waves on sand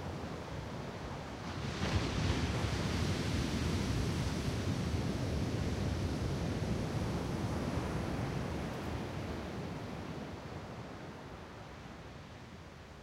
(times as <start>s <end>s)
1.0s 10.6s